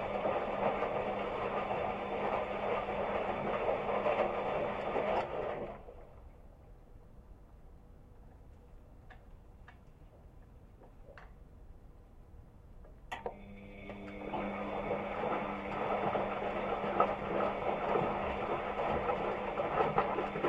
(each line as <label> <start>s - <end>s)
Washing machine doing a washing cycle 0.0s - 6.5s
Washing machine doing a washing cycle 13.1s - 20.4s